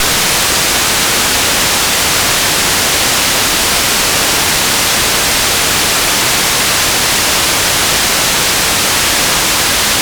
Noise Oscillator 0:00.0 - 0:10.0

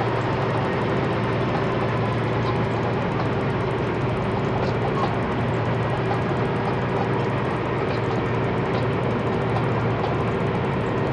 motors 0:00.0 - 0:11.1

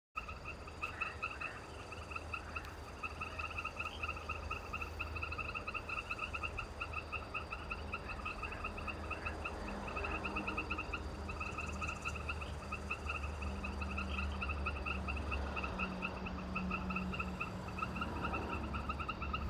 frogs 0:00.2 - 0:19.4
birds 0:00.2 - 0:19.4

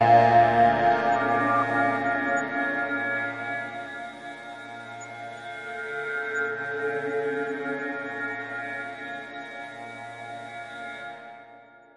drone 0:00.0 - 0:10.6

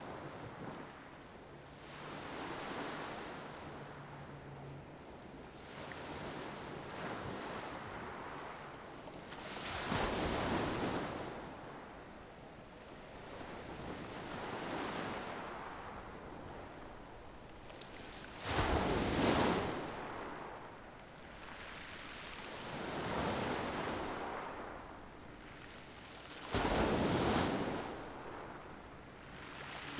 Small/tiny waves crashing on the beach's peebles 0:09.2 - 0:11.8
Small/tiny waves crashing on the beach's peebles 0:17.9 - 0:29.9

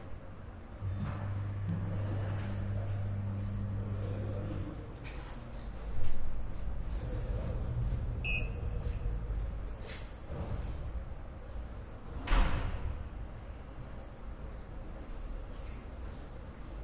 ascending elevator 0:00.8 - 0:11.2

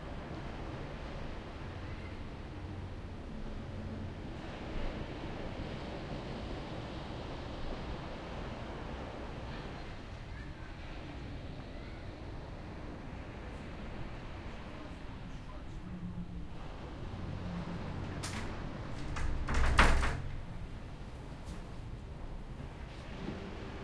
waves 0:00.0 - 0:19.0
faint distant voices 0:01.4 - 0:05.1
faint distant voices 0:07.8 - 0:22.0
opening and closing the door to the balcony 0:17.3 - 0:21.9
waves 0:20.3 - 0:23.8

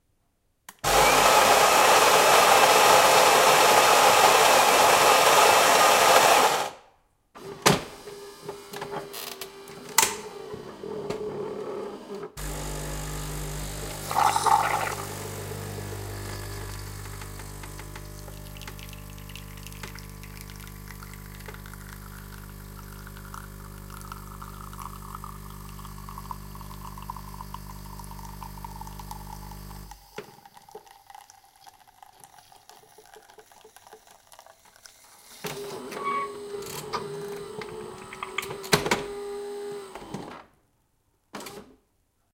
Coffee machine 0:00.8 - 0:06.8
Coffee machine 0:07.4 - 0:40.4

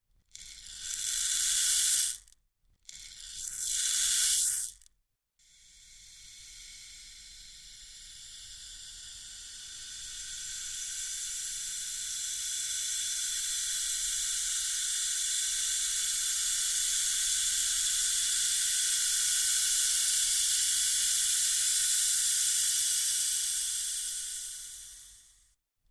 wooden shaker 0:03.4 - 0:04.9

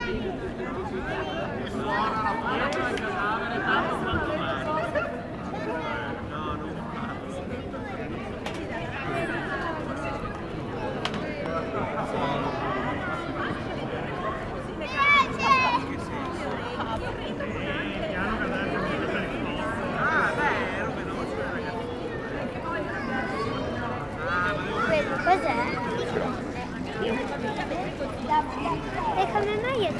people is walking around 0:00.0 - 0:29.9
kids running around 0:22.1 - 0:29.9

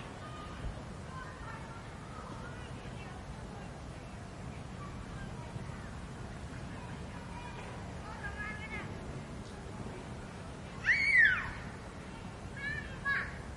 Voices 0:00.0 - 0:13.5
trees 0:00.0 - 0:13.5
children are playing football 0:09.9 - 0:13.5

